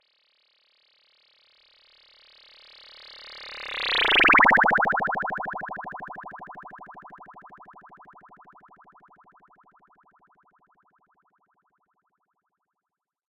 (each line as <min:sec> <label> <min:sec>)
0:04.0 tone sweep 0:08.5